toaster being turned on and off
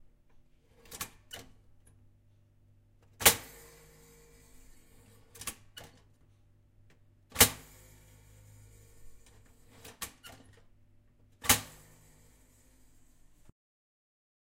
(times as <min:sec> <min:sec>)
0:03.2 0:06.0, 0:07.3 0:10.6, 0:11.4 0:13.5